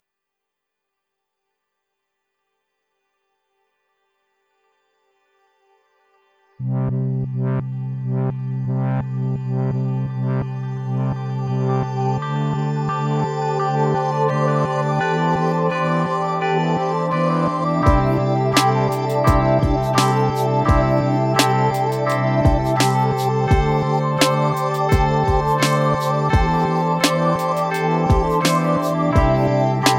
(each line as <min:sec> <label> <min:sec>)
0:03.1 music 0:29.9